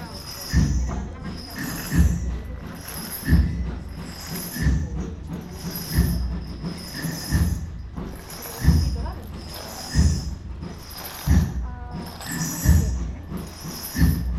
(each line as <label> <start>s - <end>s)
exceptional rhythm that focuses on slow progress 0.0s - 14.3s